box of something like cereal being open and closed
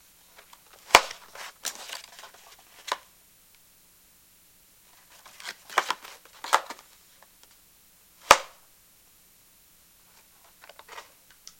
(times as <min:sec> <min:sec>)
0:00.4 0:03.1, 0:05.0 0:07.0, 0:10.5 0:11.5